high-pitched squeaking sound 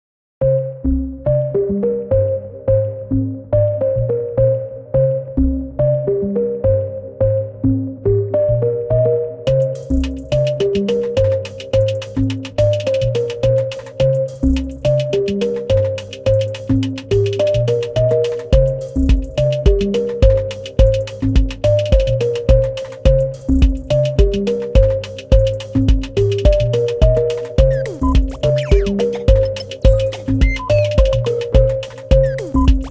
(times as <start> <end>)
27.6 31.4, 32.2 32.9